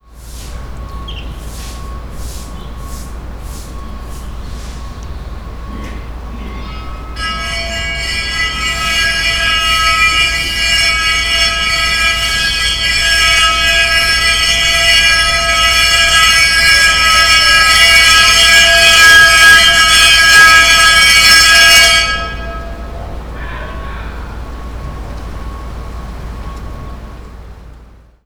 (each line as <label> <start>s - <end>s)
loud, clanging bell 3.0s - 27.6s